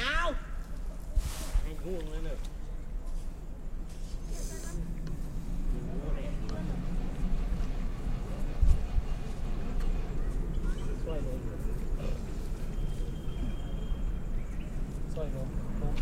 4.8s machines 16.0s

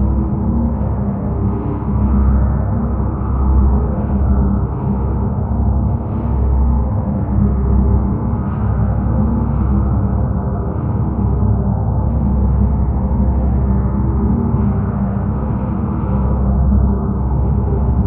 0.0s drone like background 18.0s

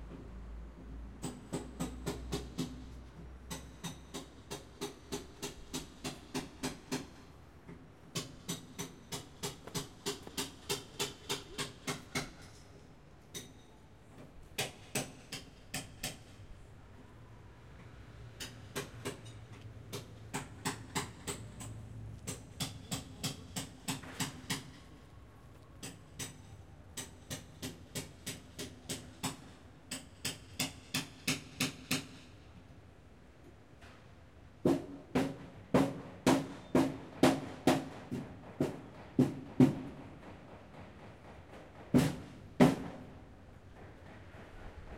1.2s Building Restoration Work 16.6s
18.4s Building Restoration Work 32.4s

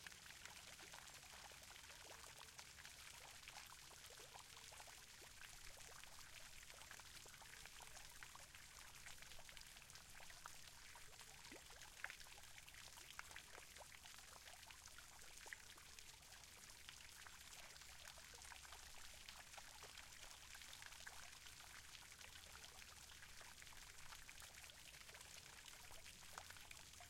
0.0s small water fountaine 27.0s

